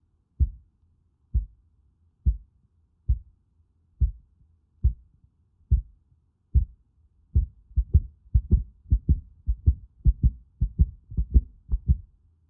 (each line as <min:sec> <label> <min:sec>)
0:00.4 heart beating 0:00.6
0:01.4 heart beating 0:01.6
0:02.3 heart beating 0:02.5
0:03.1 heart beating 0:03.3
0:04.0 heart beating 0:05.1
0:05.7 heart beating 0:06.0
0:06.6 heart beating 0:06.8
0:07.4 heart beating 0:12.1